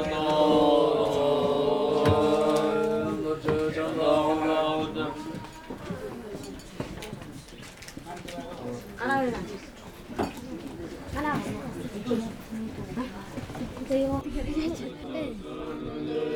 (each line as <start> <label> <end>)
0.0 Monks chanting 5.5
15.0 Monks chanting 16.3